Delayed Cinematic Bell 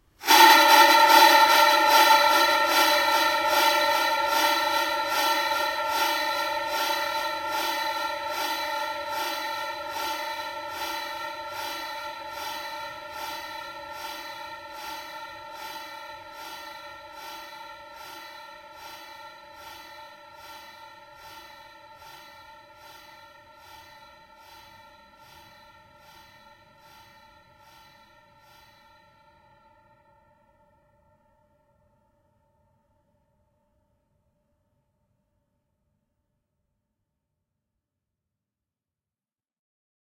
0.6s 32.0s

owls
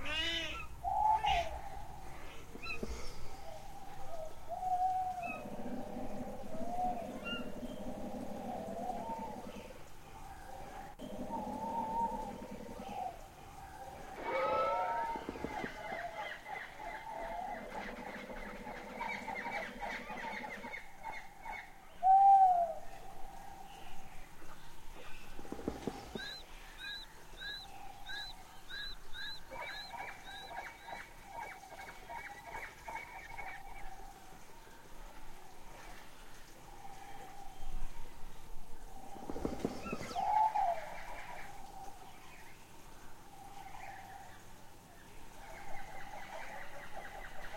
0.0s 9.8s, 10.4s 22.9s, 25.0s 34.0s, 39.0s 42.1s

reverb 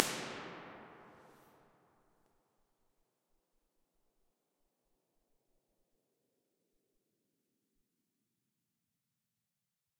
0.0s 1.3s

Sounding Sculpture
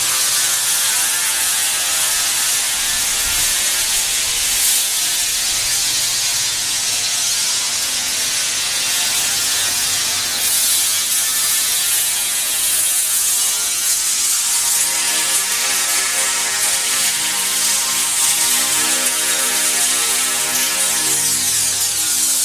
10.2s 22.4s

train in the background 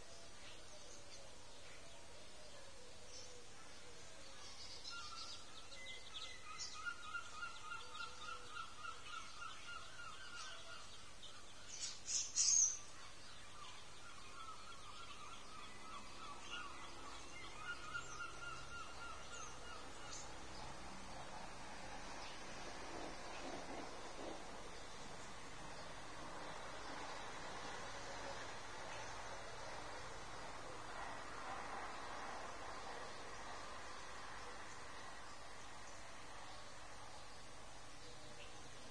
18.2s 38.8s

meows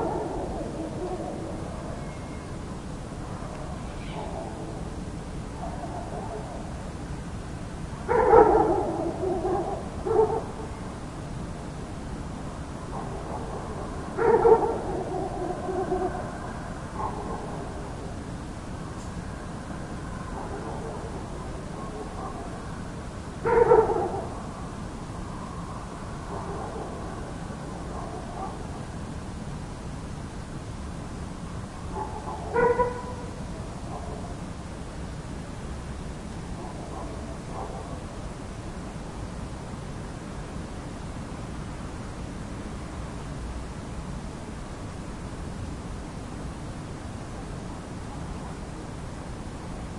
3.9s 4.4s

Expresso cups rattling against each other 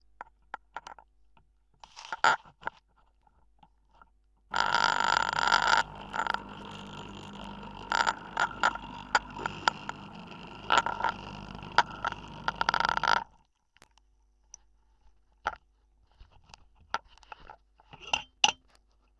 4.5s 13.2s

